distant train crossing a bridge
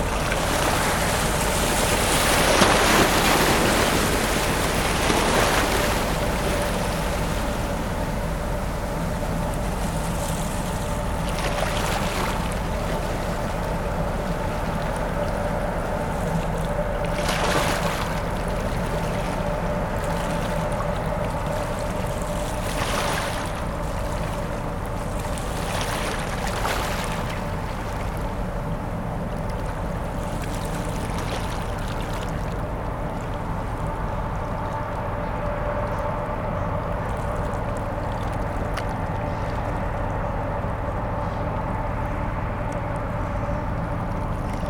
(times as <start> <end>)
0.0 11.4, 26.9 44.6